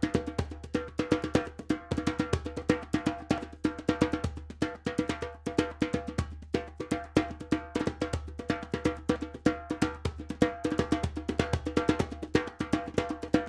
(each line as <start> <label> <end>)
0.0 djembe 13.4